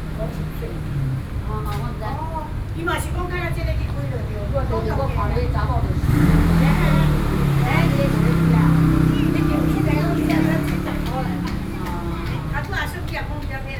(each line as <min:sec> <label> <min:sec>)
0:03.1 group of old woman 0:13.7